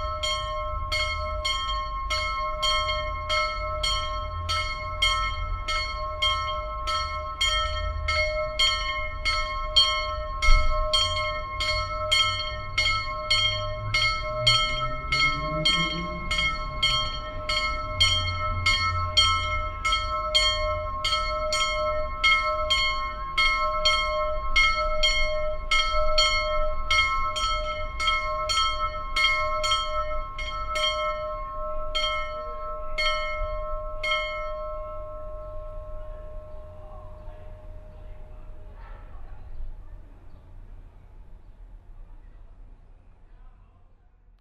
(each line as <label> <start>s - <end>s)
bell of the chapell 0.0s - 38.8s
Car traffic 0.0s - 43.4s
people talking in the distance 35.9s - 44.4s